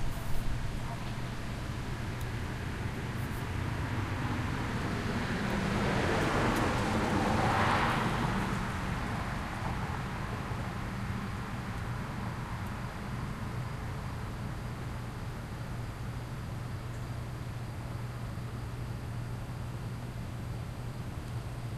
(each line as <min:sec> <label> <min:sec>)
0:00.0 leaves 0:15.4
0:00.0 traffic passes 0:16.4